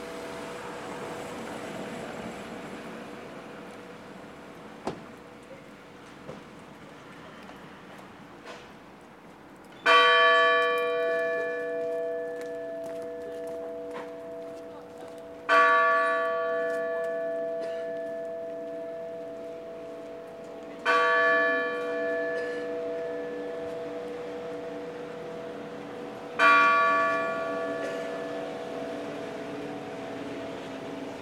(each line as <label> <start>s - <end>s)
church bells 9.8s - 31.2s